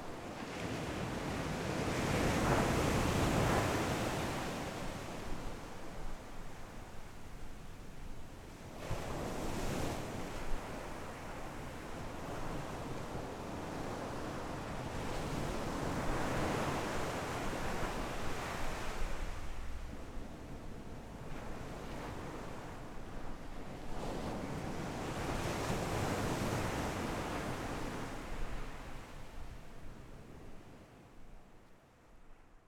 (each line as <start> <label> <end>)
0.0 waves 7.6
8.5 waves 32.3